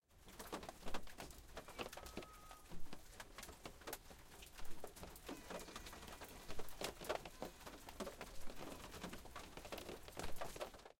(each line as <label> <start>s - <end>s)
raindrops 0.1s - 10.9s